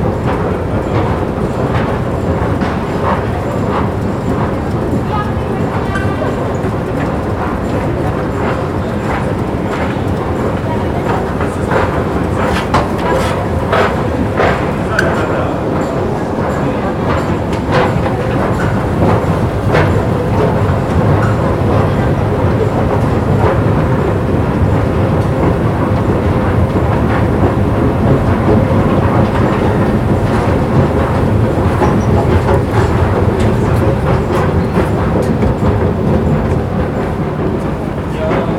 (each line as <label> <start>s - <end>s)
voices 0.0s - 26.6s
escalator noise 8.4s - 22.0s
footstep 8.6s - 16.0s
voices 27.2s - 38.5s
escalator noise 28.0s - 38.1s
footstep 28.4s - 38.0s